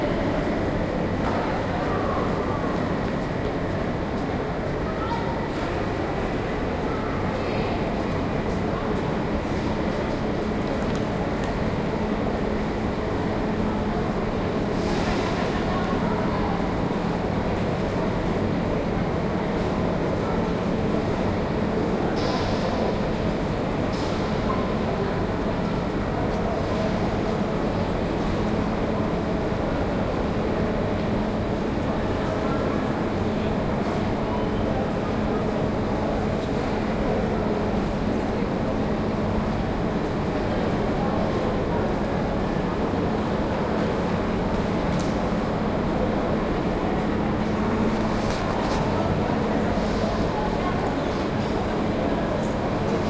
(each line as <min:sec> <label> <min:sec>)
0:00.0 train 0:53.0